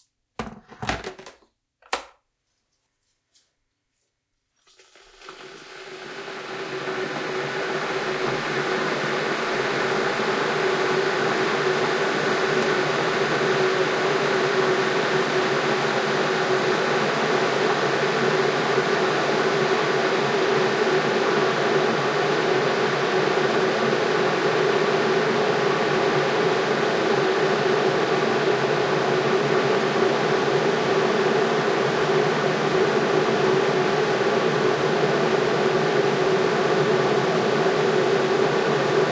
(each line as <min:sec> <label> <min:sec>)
0:04.6 boiling 0:39.1
0:04.6 pouring the hot water into two mugs 0:13.8
0:04.6 filling the kettle 0:17.2